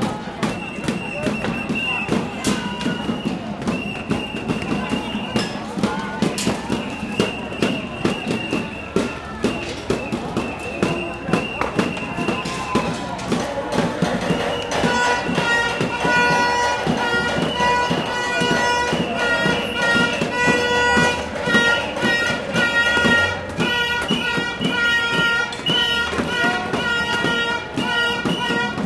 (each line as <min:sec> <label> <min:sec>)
0:00.0 protesters calm down 0:28.8
0:00.0 protesters throw stones at liner water truck 0:28.8